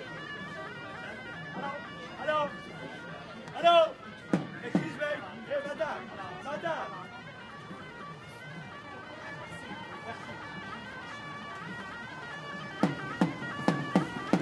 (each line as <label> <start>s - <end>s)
people talking or making business 0.0s - 14.4s
snake charmer with flutes 0.0s - 14.4s